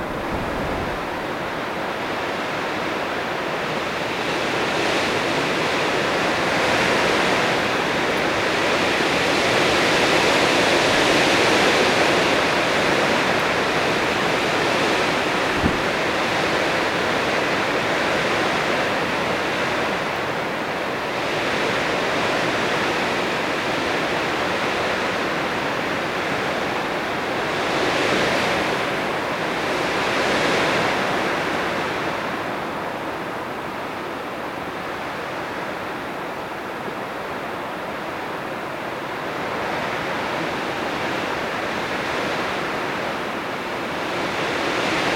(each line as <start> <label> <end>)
0.0 Wind in a fir 45.1